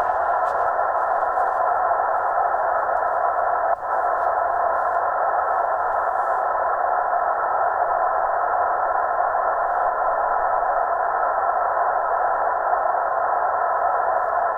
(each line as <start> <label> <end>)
0.0 Radio noise on short waves 6.6